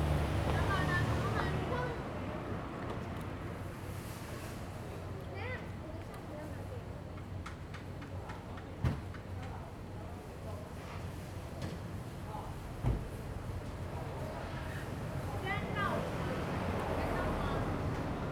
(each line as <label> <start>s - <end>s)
Traffic Sound 15.2s - 18.3s